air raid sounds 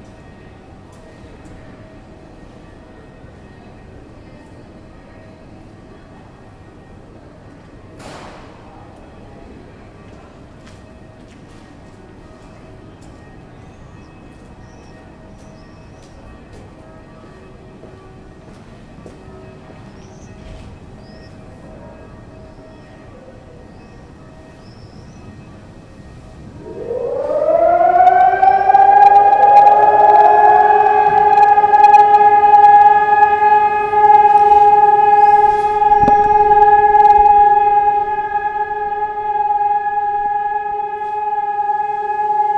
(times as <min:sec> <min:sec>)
0:26.1 0:42.5